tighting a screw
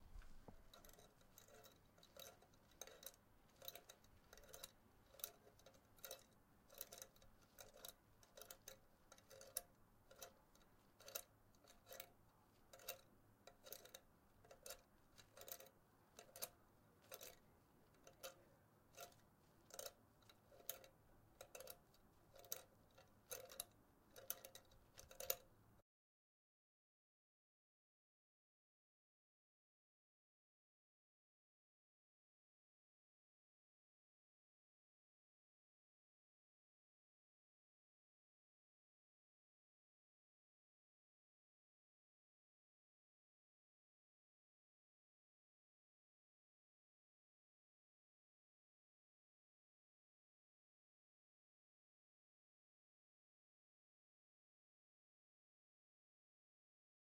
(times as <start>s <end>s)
0.0s 25.5s